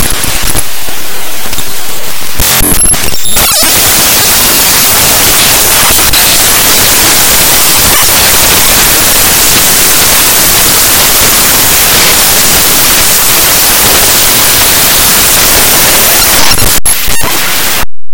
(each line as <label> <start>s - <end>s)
static 0.0s - 18.1s